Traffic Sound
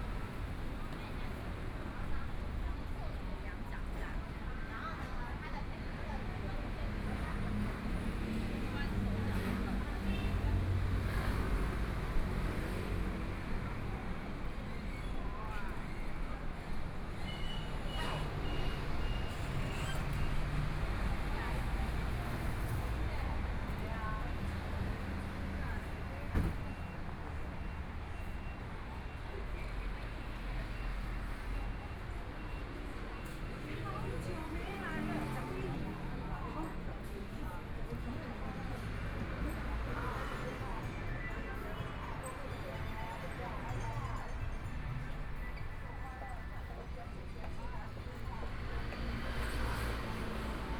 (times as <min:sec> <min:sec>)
0:15.7 0:50.7